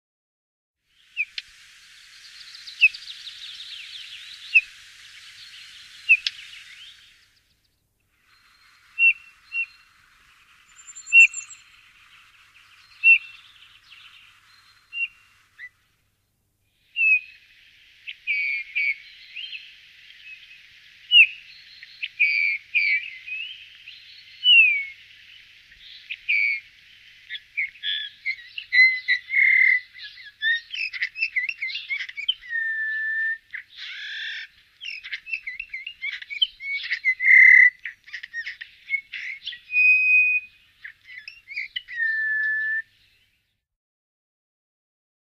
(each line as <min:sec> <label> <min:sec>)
0:00.8 bird sound Pyrrhula pyrrhula 0:43.7